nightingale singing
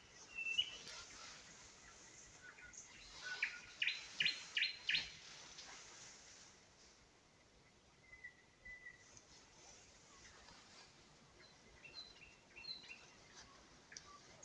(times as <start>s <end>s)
0.0s 1.2s, 1.8s 5.2s, 8.0s 9.1s, 11.4s 14.4s